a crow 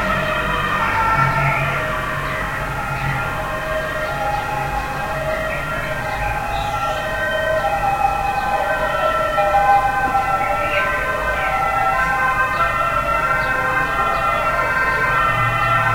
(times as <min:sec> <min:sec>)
0:00.1 0:03.2